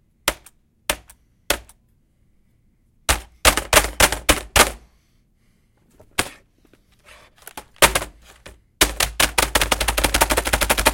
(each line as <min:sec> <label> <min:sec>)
0:08.8 typing on a plastic computer keyboard 0:10.9